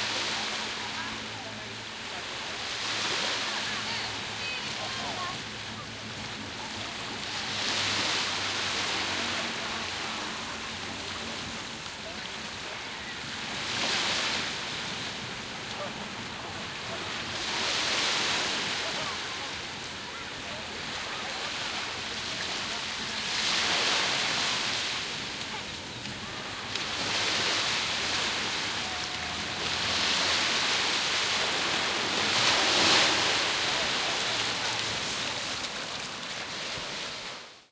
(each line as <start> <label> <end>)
0.0 sea gently encroaching further inward 37.7